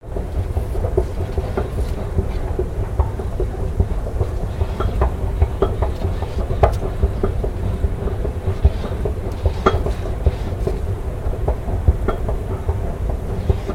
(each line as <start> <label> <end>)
0.2 escalator 13.7